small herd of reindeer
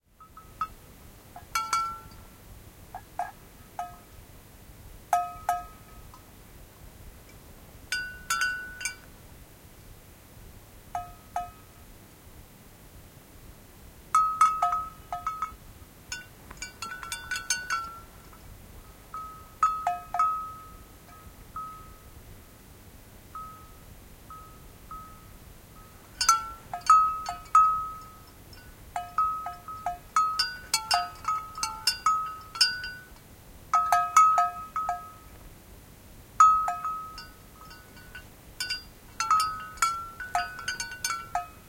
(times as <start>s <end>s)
13.6s 35.7s, 36.4s 41.6s